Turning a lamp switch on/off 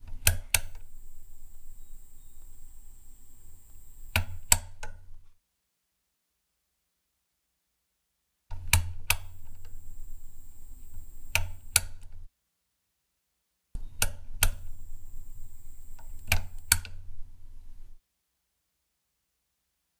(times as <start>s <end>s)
0.0s 5.1s, 8.6s 12.3s, 13.8s 17.1s